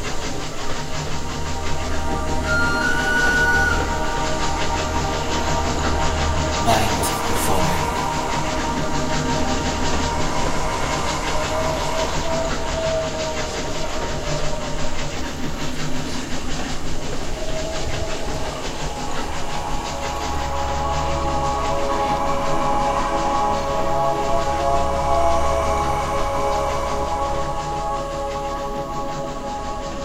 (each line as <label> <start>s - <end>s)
Ambient music 0.0s - 30.0s
steam train running through the station 0.0s - 30.0s
Train whistle 2.1s - 5.2s
Whispering souls 6.6s - 8.6s
station announcements 6.7s - 8.2s